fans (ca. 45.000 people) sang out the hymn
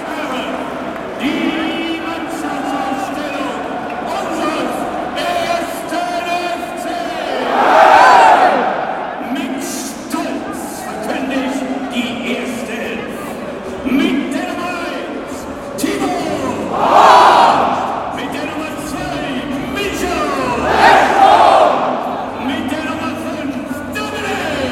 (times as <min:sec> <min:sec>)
0:15.8 0:18.3, 0:19.9 0:22.6